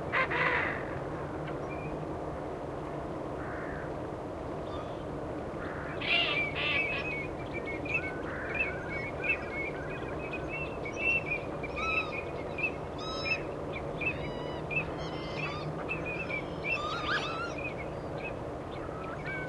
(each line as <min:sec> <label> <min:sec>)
0:00.1 geese 0:00.8
0:04.6 wading birds 0:19.4